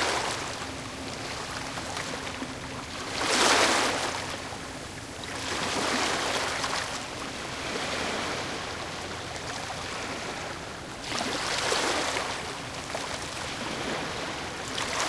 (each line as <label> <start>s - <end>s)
waves crushing on the shore 3.0s - 4.3s
waves crushing on the shore 5.2s - 15.0s